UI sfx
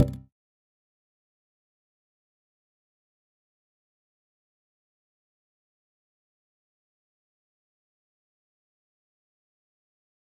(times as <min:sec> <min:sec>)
0:00.0 0:00.2